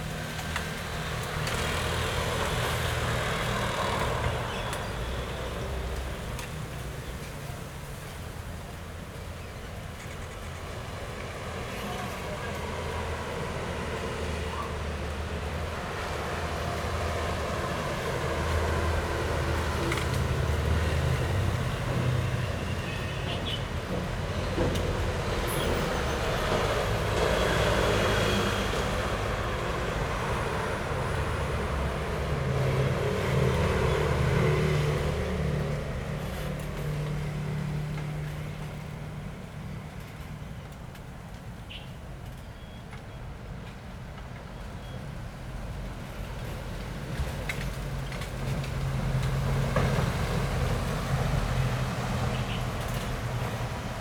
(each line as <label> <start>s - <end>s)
Traffic Sound 0.0s - 54.0s
Traveling by train 0.0s - 54.0s